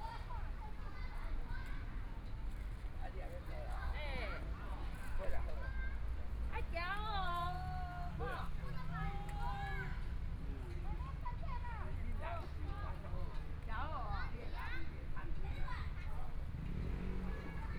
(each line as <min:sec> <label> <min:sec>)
0:15.2 Traffic Sound 0:17.7